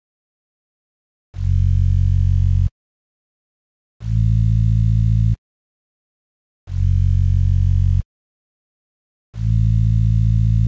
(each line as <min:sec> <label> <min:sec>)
0:01.4 bassline 0:02.7
0:04.0 bassline 0:05.4
0:06.7 bassline 0:08.0
0:09.4 bassline 0:10.6